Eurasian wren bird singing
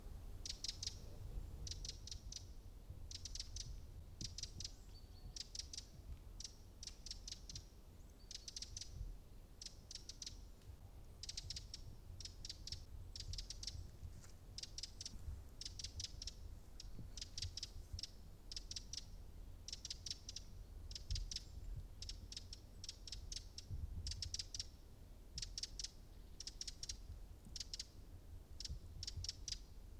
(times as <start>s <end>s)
0.4s 2.4s